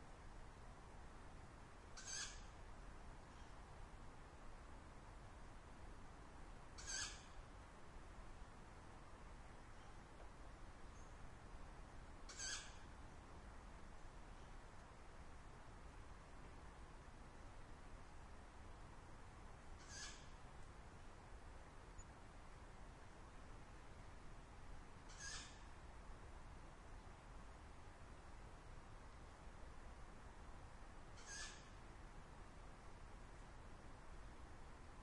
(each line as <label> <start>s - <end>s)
owl 2.0s - 2.6s
owl 3.3s - 3.6s
owl 6.8s - 7.4s
owl 9.8s - 10.0s
owl 12.3s - 12.9s
owl 19.8s - 20.4s
owl 25.1s - 25.8s
owl 31.2s - 31.8s